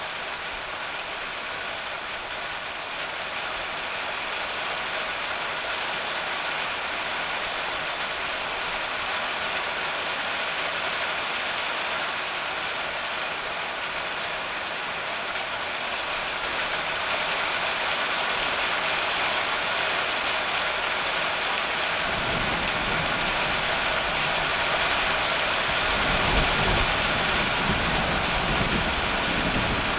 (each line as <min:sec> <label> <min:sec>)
0:00.0 Heavy rain on a metal roof 0:29.9
0:22.0 Roll of thunder 0:29.9